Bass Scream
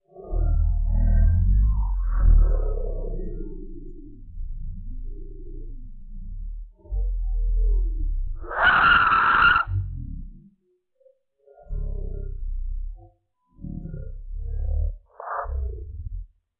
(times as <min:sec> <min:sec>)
0:08.4 0:09.9